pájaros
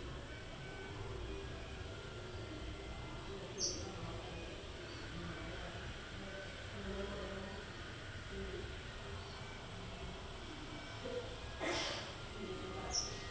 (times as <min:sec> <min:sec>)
0:00.0 0:05.2